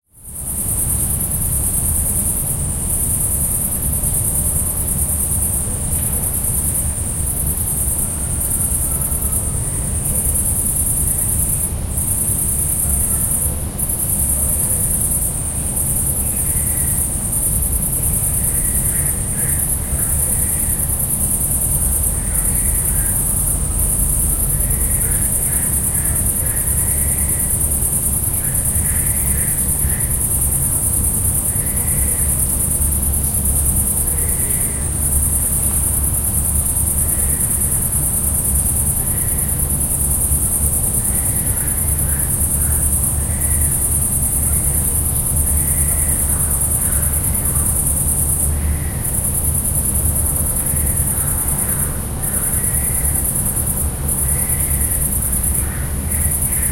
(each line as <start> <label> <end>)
0.0 cicadaes 56.7
0.0 distant tree-frogs 56.7
0.1 city noise 56.7